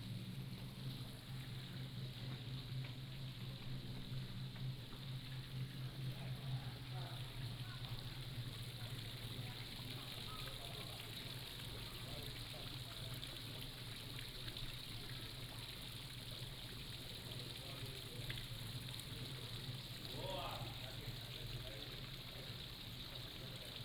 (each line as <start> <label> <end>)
0.6 Walking in the temple 7.4